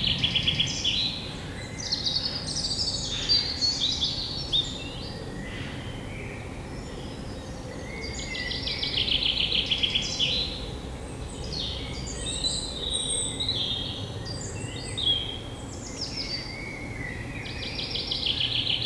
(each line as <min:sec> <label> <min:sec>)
0:00.0 Blackbird 0:10.7
0:00.0 Common Chaffinch 0:18.8